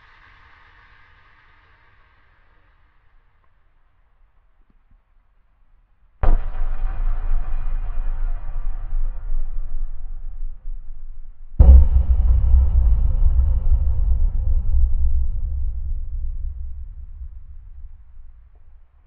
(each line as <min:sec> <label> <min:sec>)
0:06.2 booms 0:19.0